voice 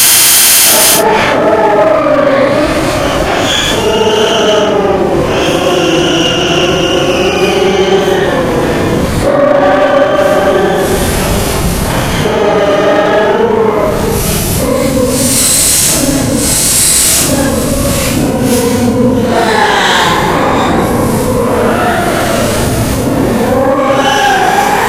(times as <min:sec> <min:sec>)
0:00.0 0:03.0, 0:12.2 0:24.8